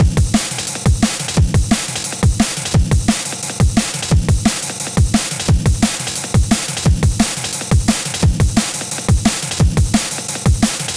bass 0.0 - 8.6
drum 0.0 - 10.9

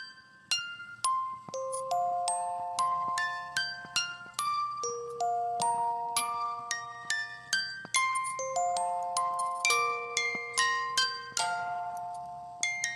glockenspiel 0.0 - 12.9

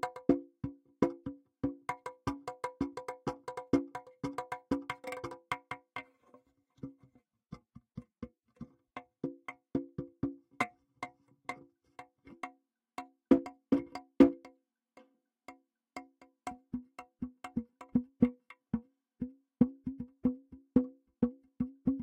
CONGA PIPE 0.0 - 5.8
CONGA PIPE 16.0 - 22.0

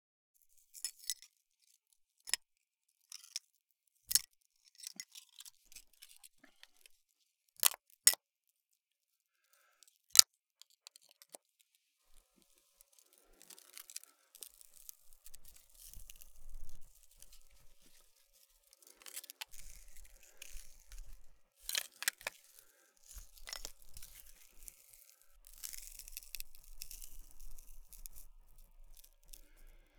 breathing 9.3 - 10.0
breathing 12.4 - 14.9
breathing 18.8 - 21.4
breathing 22.3 - 23.4
breathing 29.3 - 29.9

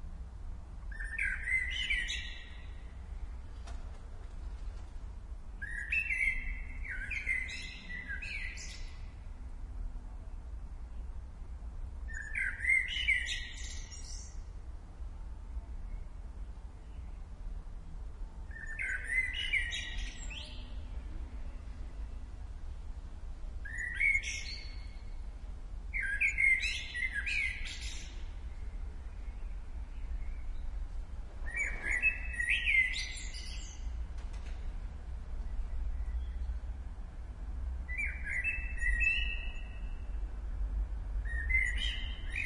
blackbird 0.9 - 2.9
blackbird 5.6 - 9.1
blackbird 12.1 - 14.5
blackbird 18.5 - 21.0
blackbird 23.6 - 25.2
blackbird 25.9 - 30.8
blackbird 31.4 - 34.7
blackbird 37.9 - 40.2
blackbird 41.2 - 42.4

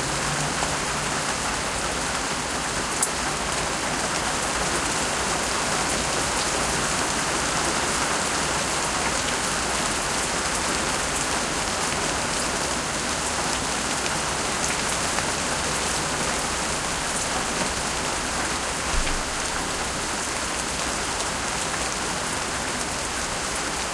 rain in plants and bushes 0.0 - 23.9

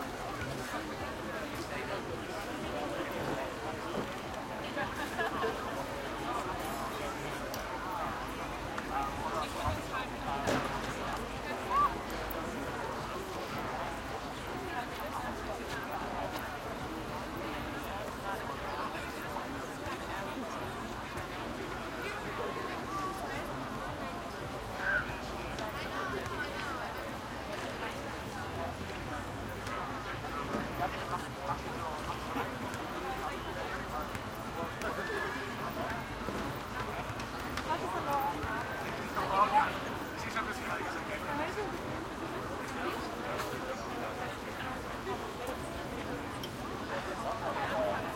english and german voices and movement everywhere2 0.0 - 48.1

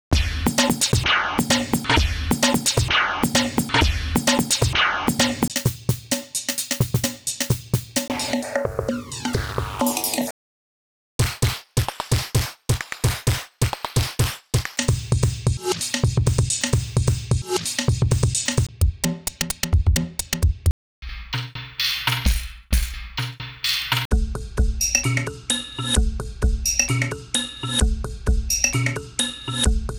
glitchy break beats 0.2 - 10.3
glitchy break beats 11.2 - 18.7
glitchy break beats 19.3 - 24.1

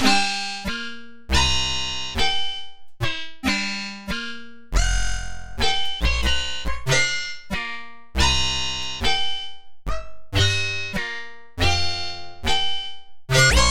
bass 0.0 - 13.7

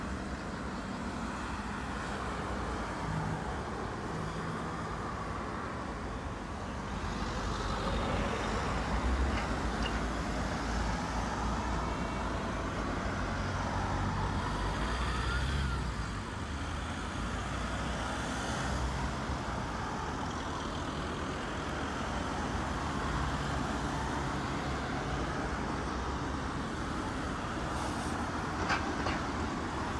CAR 0.0 - 29.9

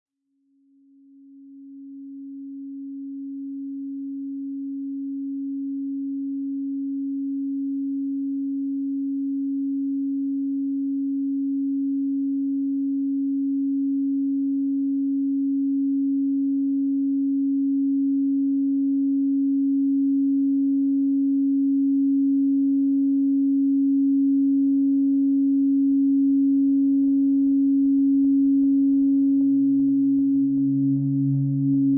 droning oscillation which crescendos 28.9 - 31.9

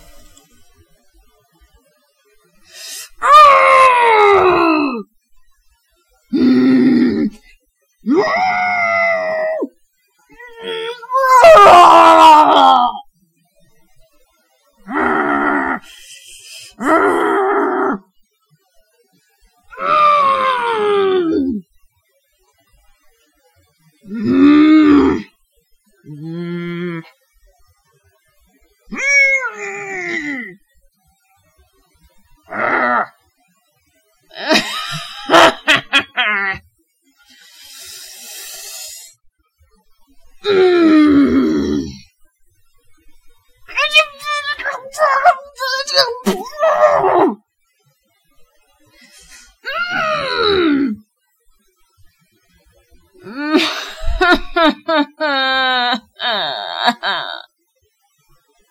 angry noises 43.7 - 47.2

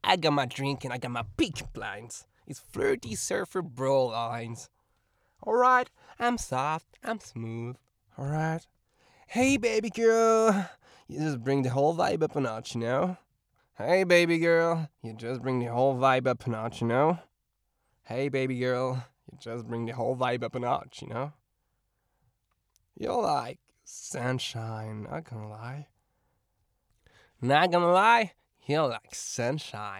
Surfer like voice 0.0 - 4.6
Surfer like voice 9.3 - 10.6

